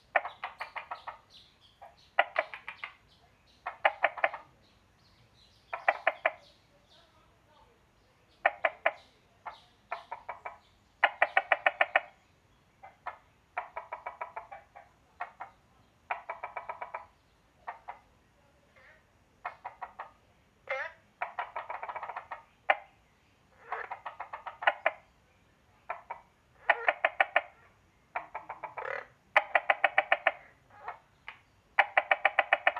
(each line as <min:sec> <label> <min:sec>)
0:00.0 Frogs chirping 0:07.1
0:08.0 Frogs chirping 0:32.7